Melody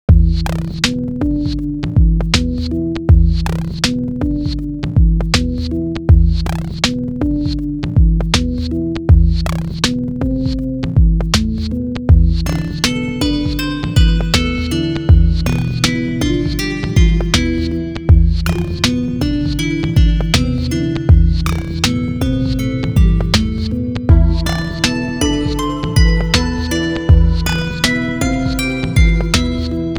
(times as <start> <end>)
12.1 29.9